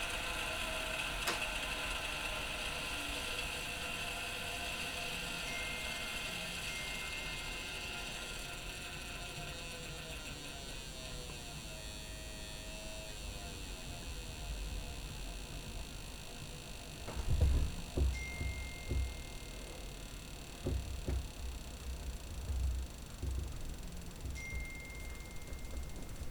boiling water for tea in a tin kettle 0:00.0 - 0:11.5

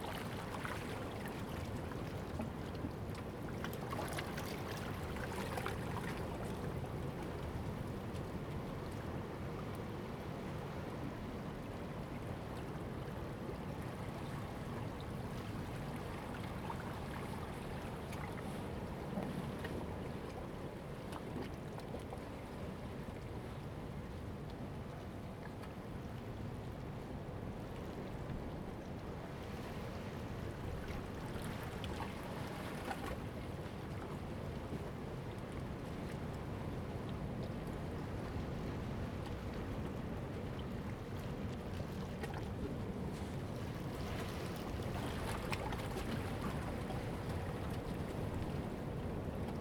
Waves and tides 0:00.0 - 0:49.6

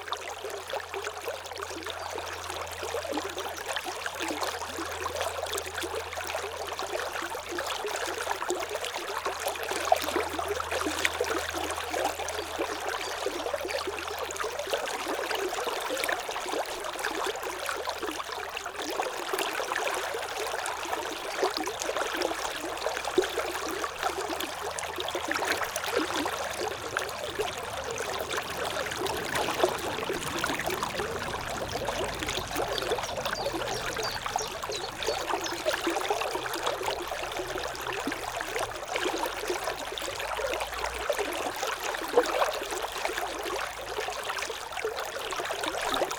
water 0:00.0 - 0:46.1

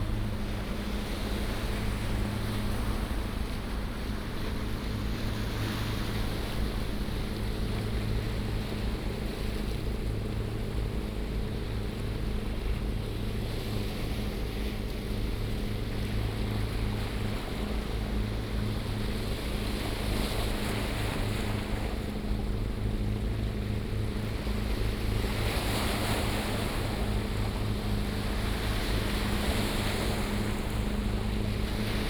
yachts on the river 0:00.0 - 0:32.0

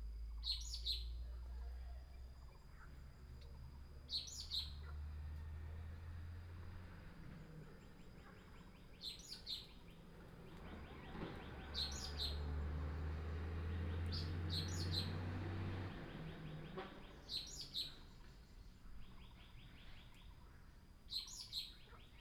frogs chirping 0:00.2 - 0:05.2
birds sound 0:00.3 - 0:22.2
frogs chirping 0:06.1 - 0:13.0

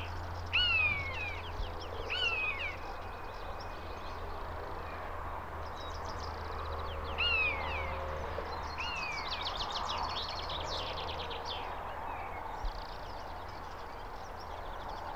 birds at highway 0:00.0 - 0:15.1

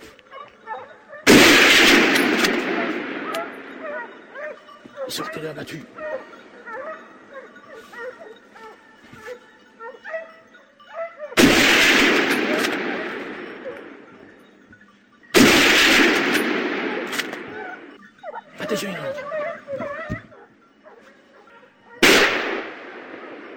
dogs that track half a dozen wild boars 0:00.0 - 0:23.5

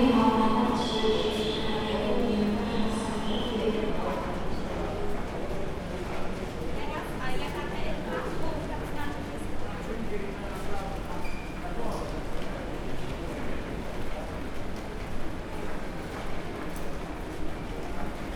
tourists 0:00.0 - 0:09.6

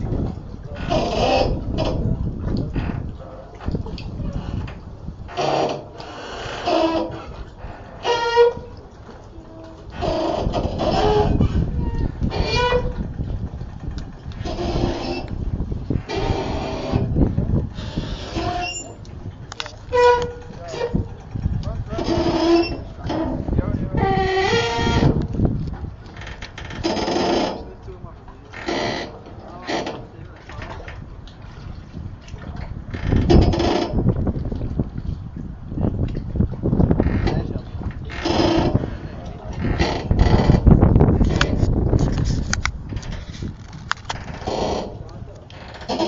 waves 0:00.0 - 0:46.0
ferry terminal creeking 0:05.3 - 0:25.3

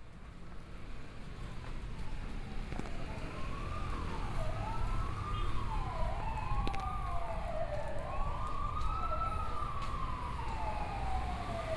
Traffic Noise 0:00.0 - 0:11.7
walking in the Street 0:00.0 - 0:11.7

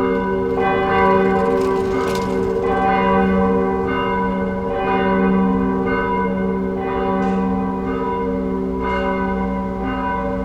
bells 0:00.0 - 0:10.4

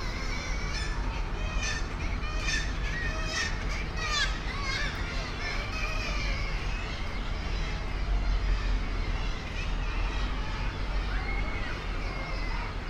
air conditioning units 0:00.0 - 0:12.8
boats leaving the harbour 0:00.0 - 0:12.8
herring gull 0:00.0 - 0:12.8
kittiwakes 0:00.0 - 0:12.8
traffic 0:00.0 - 0:12.8
voices 0:00.0 - 0:12.8

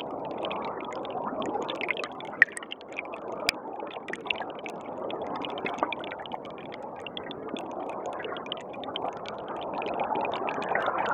river 0:00.0 - 0:11.1

